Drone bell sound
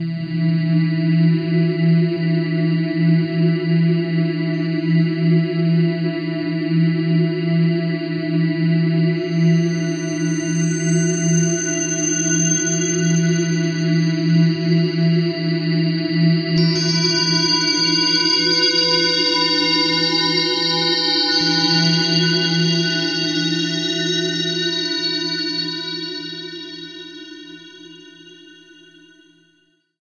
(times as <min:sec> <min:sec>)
0:09.3 0:15.0, 0:16.6 0:29.3